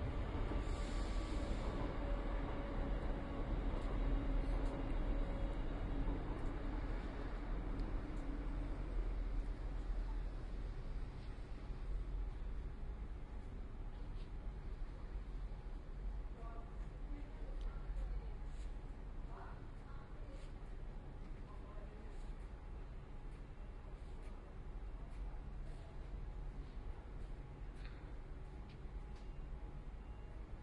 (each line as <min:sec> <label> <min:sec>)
0:00.0 train 0:30.6